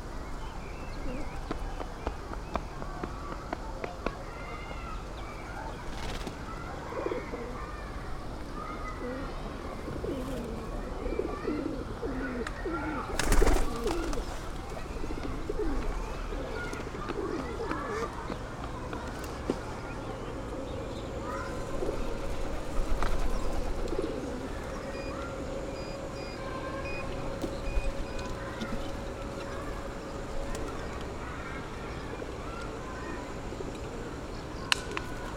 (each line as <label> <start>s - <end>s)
birds surrounding them 0.0s - 35.3s